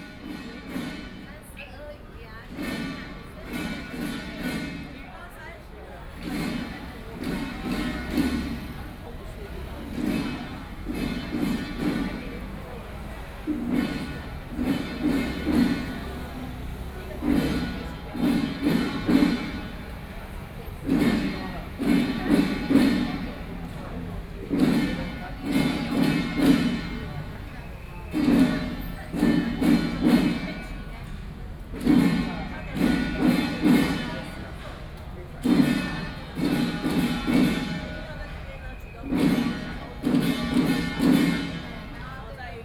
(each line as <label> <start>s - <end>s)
Traditional musical instruments 0.0s - 1.3s
Traditional musical instruments 6.1s - 34.7s
Traditional musical instruments 35.4s - 38.4s
Traditional musical instruments 39.0s - 42.0s